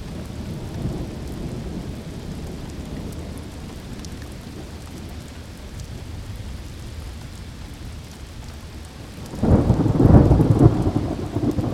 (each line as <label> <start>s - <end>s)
Thunderstorm 9.1s - 11.7s